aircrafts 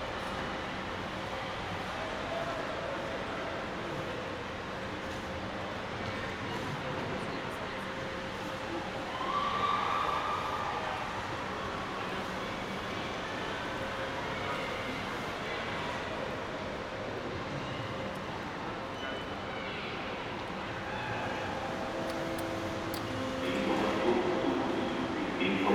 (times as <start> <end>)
19.9 25.7